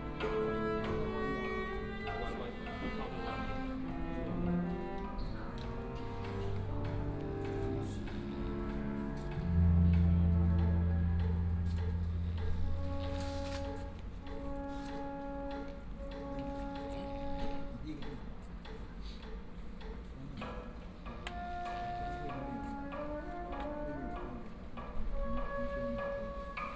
instrument was tuned 0:00.0 - 0:17.8

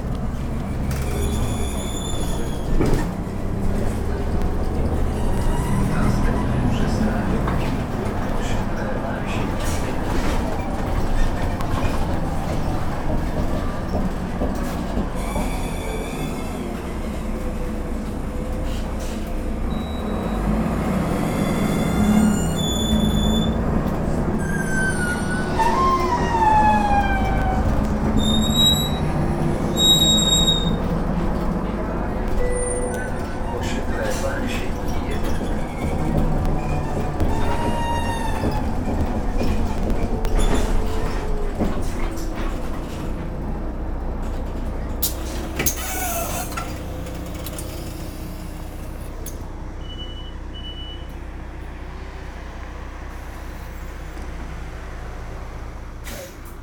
conversations of the few commuters 0:00.0 - 0:56.6
squeaky bus 0:00.0 - 0:56.6
announcer naming the stops 0:25.4 - 0:41.9
door beep 0:49.8 - 0:51.1

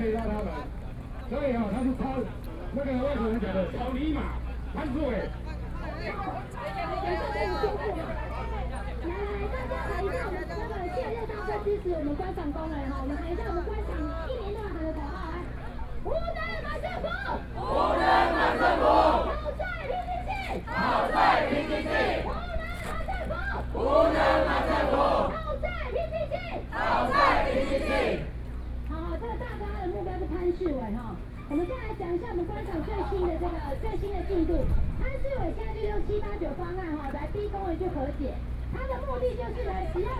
Shouting slogans 0:17.4 - 0:19.6
Labor protests 0:17.4 - 0:19.4
Shouting slogans 0:20.3 - 0:25.5
Labor protests 0:20.4 - 0:22.9
Labor protests 0:23.6 - 0:25.4
Shouting slogans 0:26.6 - 0:28.4
Labor protests 0:26.6 - 0:28.3

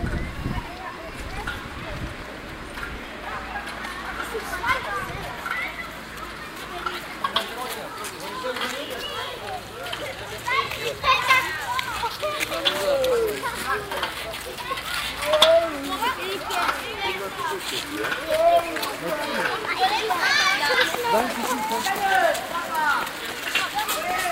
kids playing on the streets 0:00.0 - 0:24.3
traffic 0:00.0 - 0:24.3

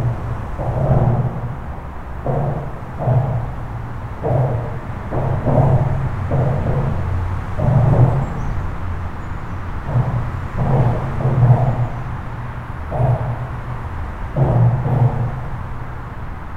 bangs sounds are coming from a bridge 0:00.0 - 0:16.5
dense trafic on the local highway 0:00.0 - 0:16.5

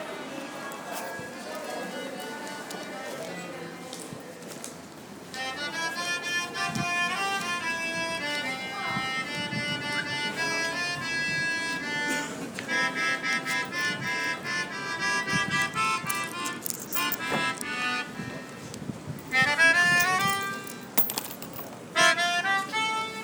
harmonica 0:05.3 - 0:20.7
harmonica 0:21.9 - 0:23.2

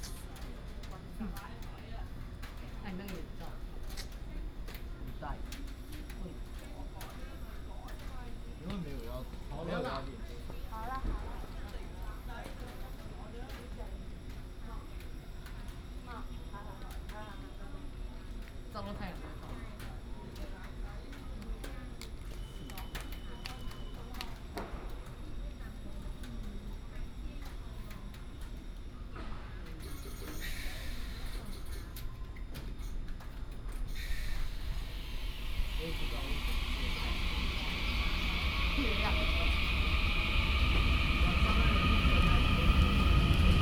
Train arrived 0:00.0 - 0:09.5
Train arrived 0:26.8 - 0:43.6

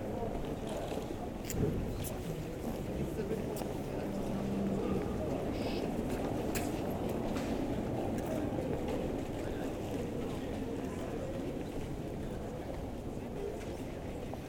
German tourists group 0:00.0 - 0:14.4
Spanish tourists group leaves with the bikes 0:00.0 - 0:14.4

